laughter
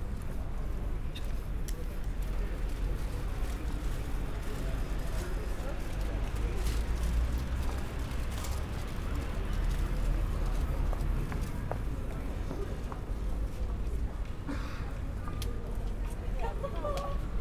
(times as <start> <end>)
16.4 17.1